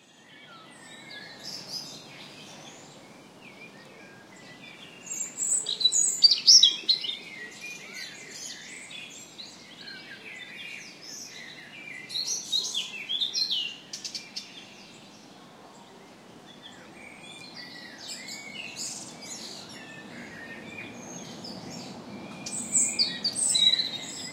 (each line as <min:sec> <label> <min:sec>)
0:00.0 Robin singing at close distance 0:24.3
0:03.6 Blackbird singing 0:14.8
0:16.6 Blackbird singing 0:24.3